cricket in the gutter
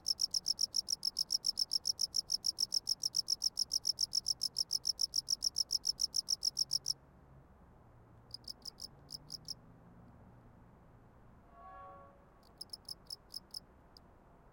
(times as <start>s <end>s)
0.0s 7.0s, 8.3s 9.6s, 12.4s 13.6s